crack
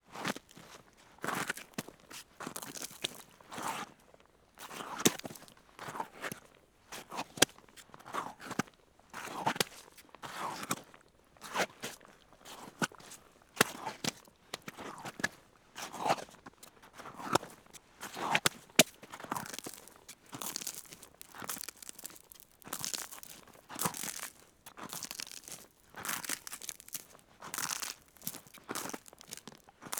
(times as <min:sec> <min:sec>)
0:18.4 0:29.9